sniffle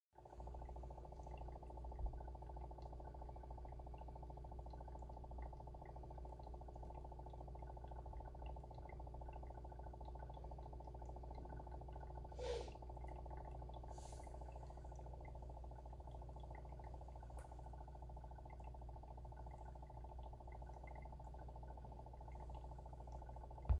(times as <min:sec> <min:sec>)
0:12.4 0:12.8